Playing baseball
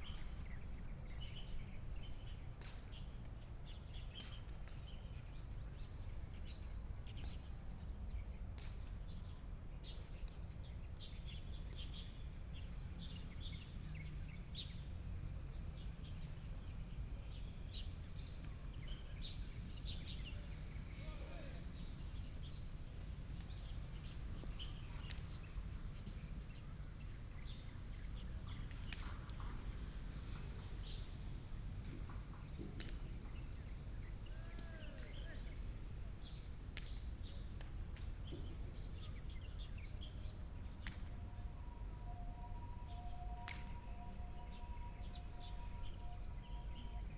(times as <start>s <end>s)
34.1s 38.8s